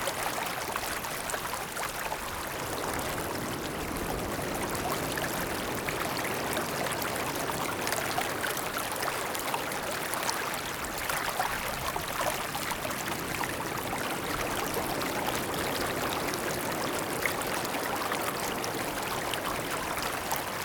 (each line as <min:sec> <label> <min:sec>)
0:00.0 waves 0:20.6